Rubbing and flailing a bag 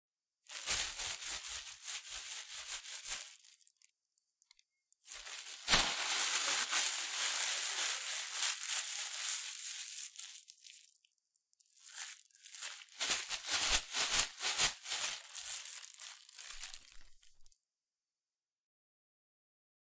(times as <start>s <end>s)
0.5s 3.8s, 5.1s 10.9s, 11.8s 17.5s